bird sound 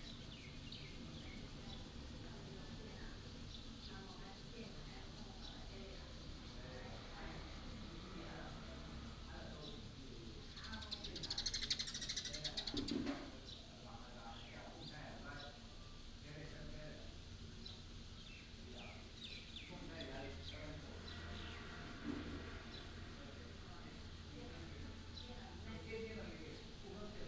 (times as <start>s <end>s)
9.6s 15.7s